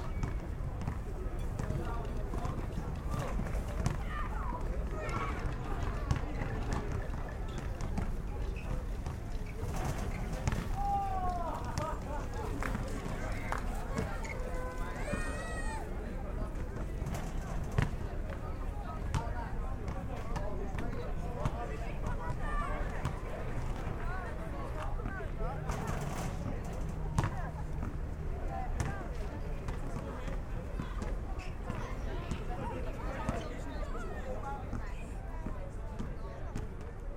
0.1s basketball 4.1s
4.9s basketball 15.3s
16.6s basketball 24.0s
24.8s basketball 33.6s
34.7s basketball 37.0s

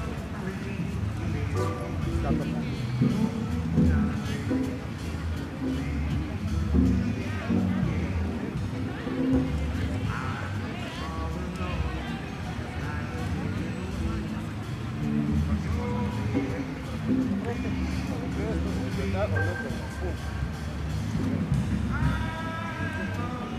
0.0s músicos de un hotel tocar Jazz 23.5s
0.0s trasiego de la gente 23.5s

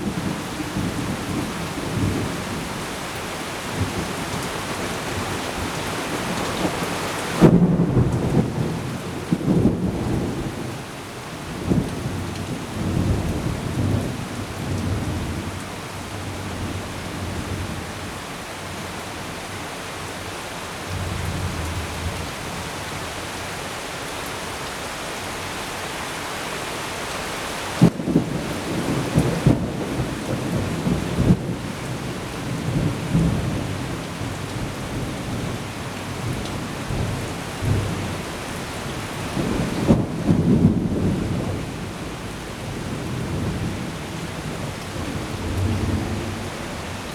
0.0s Heavy thundery showers 47.1s

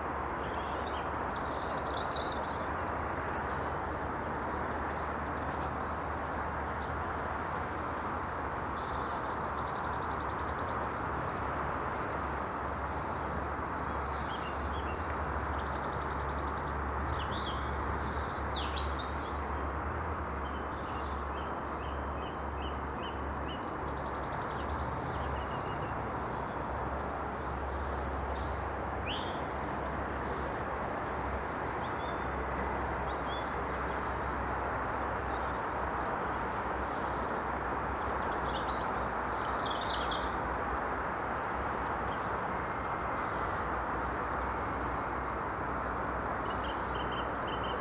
0.0s Motorway sound is unrelenting 47.8s
0.0s robin sings 47.8s

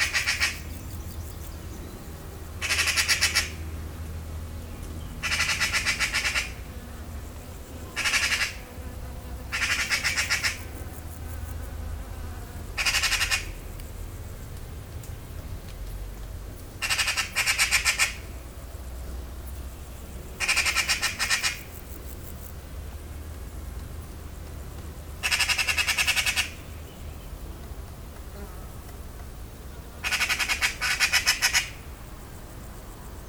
0.0s anxious magpie 0.7s
2.6s anxious magpie 3.6s
5.2s anxious magpie 6.6s
8.0s anxious magpie 8.6s
9.5s anxious magpie 10.8s
12.8s anxious magpie 13.6s
16.8s anxious magpie 18.2s
20.4s anxious magpie 21.7s
25.2s anxious magpie 26.7s
30.0s anxious magpie 31.8s

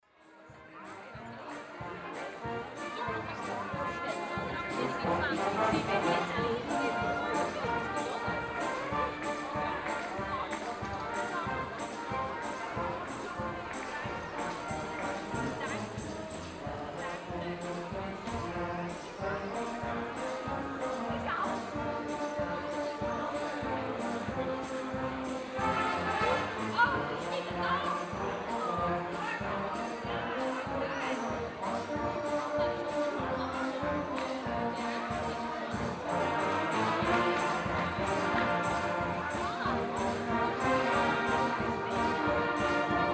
0.0s Brass Band 43.1s
0.0s people are strolling through the city 43.1s

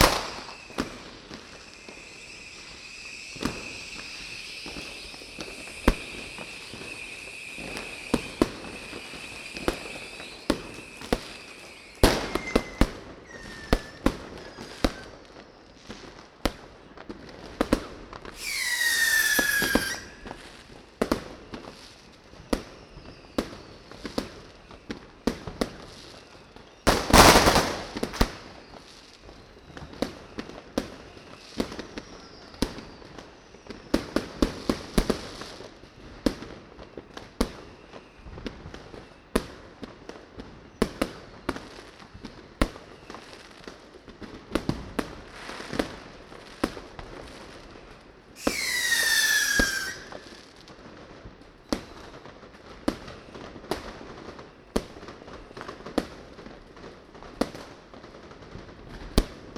0.0s fireworks 59.5s

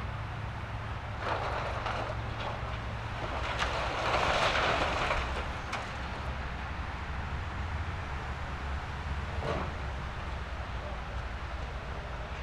0.0s excavator demolishing an old building 12.4s
1.0s crushing the rubble with its tracks 6.1s

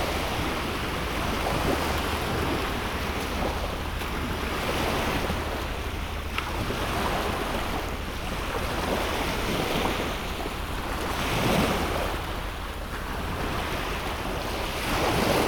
0.0s Gently rolling waves 15.4s

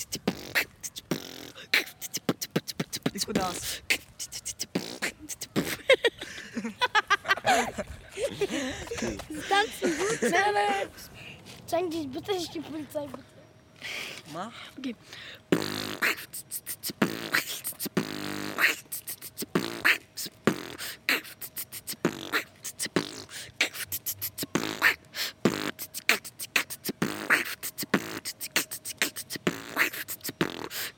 0.0s Beatbox battle 6.3s
15.5s Beatbox battle 30.9s

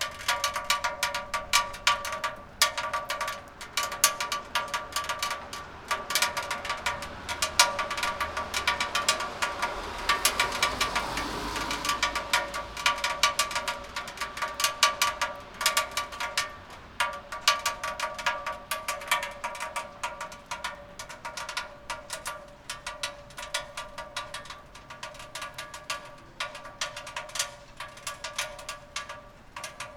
0.0s rain drop, one after another, quickly 29.9s

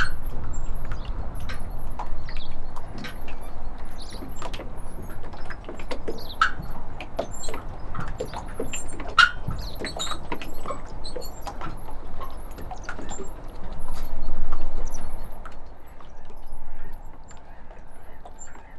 0.0s Small boats gently rocking, tied up 18.7s

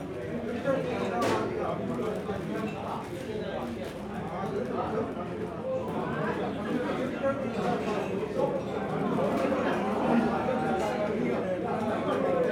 0.0s people eating & drinking 12.5s

